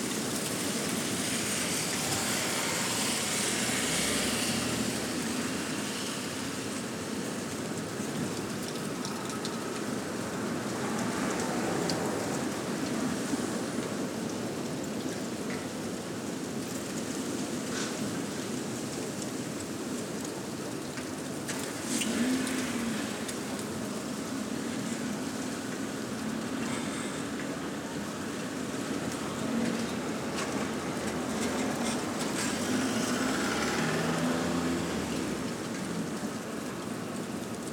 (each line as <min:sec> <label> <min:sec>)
0:00.0 Storm Eunice 0:37.7